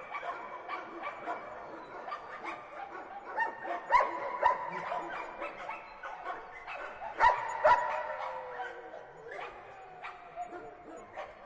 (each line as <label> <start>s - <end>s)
barking 0.0s - 11.4s